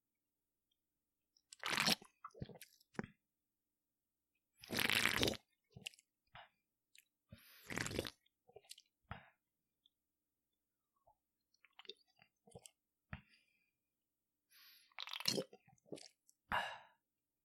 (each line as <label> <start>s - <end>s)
Sips From Can 4.6s - 6.0s
Sips From Can 7.4s - 8.9s